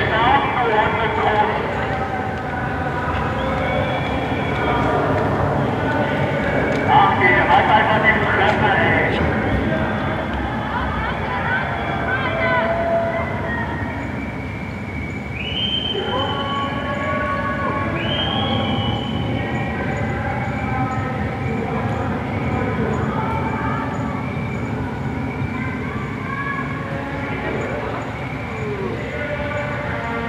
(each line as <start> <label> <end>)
0.0 neighbours booing 14.5